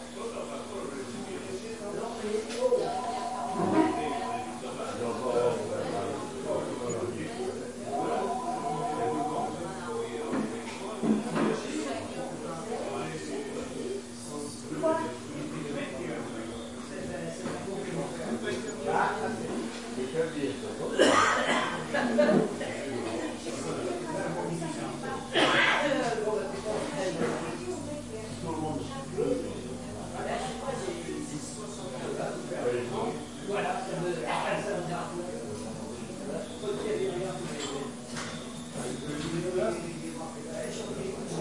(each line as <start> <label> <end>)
0.3 people 14.7